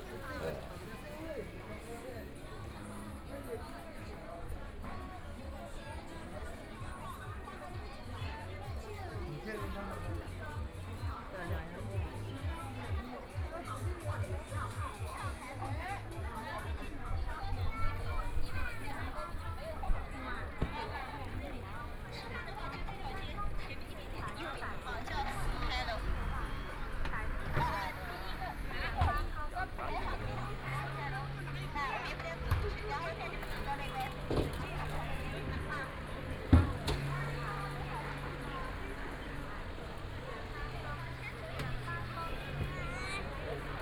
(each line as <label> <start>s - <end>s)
Traffic Sound 0.0s - 43.8s
walking in the street 0.0s - 43.8s